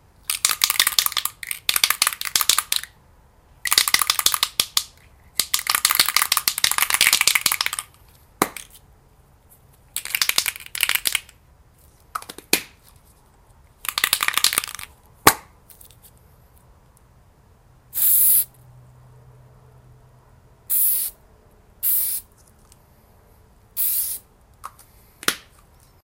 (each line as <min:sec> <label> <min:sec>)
0:00.3 Spray paint can 0:02.9
0:03.6 Spray paint can 0:08.0
0:10.0 Spray paint can 0:11.3
0:13.9 Spray paint can 0:14.9
0:18.0 Spray paint can 0:18.5
0:20.7 Spray paint can 0:21.2
0:21.8 Spray paint can 0:22.3
0:23.8 Spray paint can 0:24.2